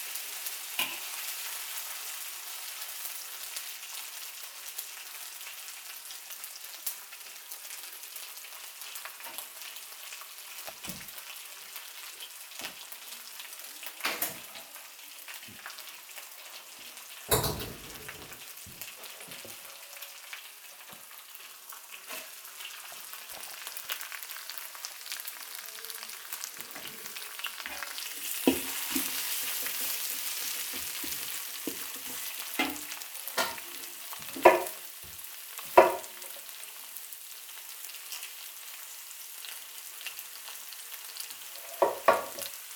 hot oil and mashed vegetable ingreedients 0.0 - 42.7

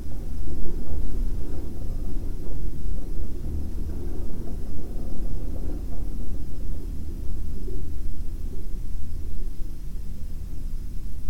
wind coming from the ventilation 0.0 - 11.2

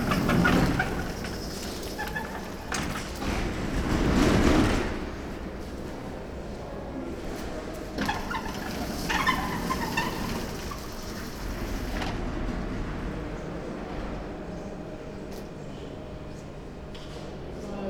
squeaking automatic door 0.0 - 3.8
people moving in and out 0.0 - 17.8
squeaking automatic door 7.9 - 13.2

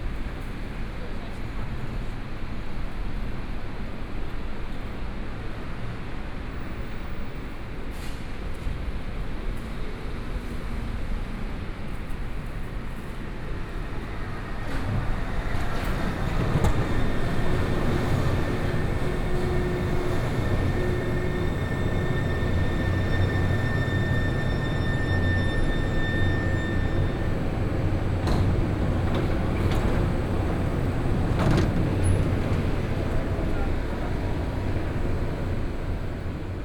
Traffic Sound 26.9 - 36.6

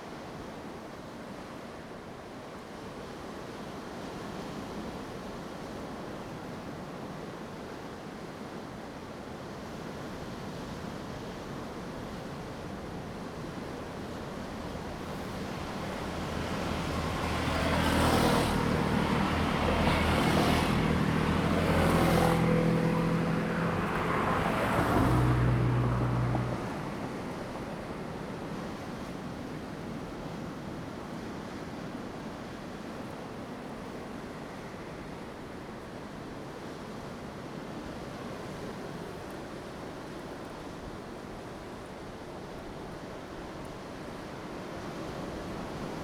waves 0.0 - 46.0

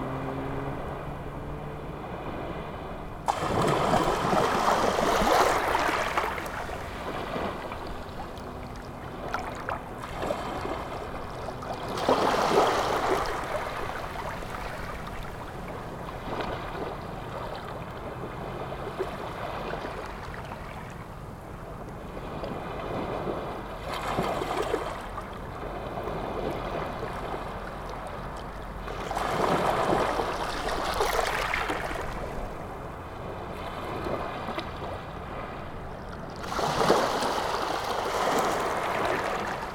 sea 0.0 - 39.7

